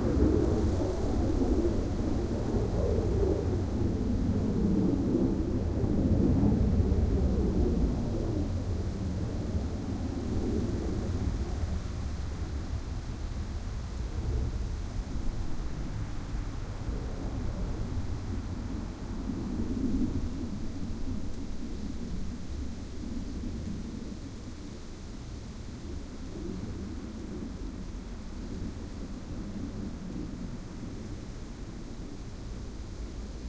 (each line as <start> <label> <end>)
0.0 F-16 Fighting Falcon flying low 33.4
0.0 wind 33.4